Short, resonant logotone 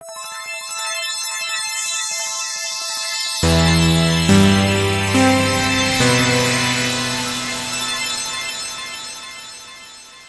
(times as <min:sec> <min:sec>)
0:03.4 0:09.0